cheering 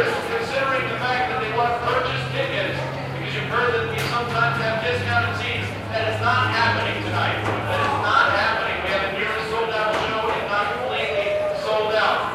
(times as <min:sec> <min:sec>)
0:07.4 0:08.4, 0:10.7 0:12.3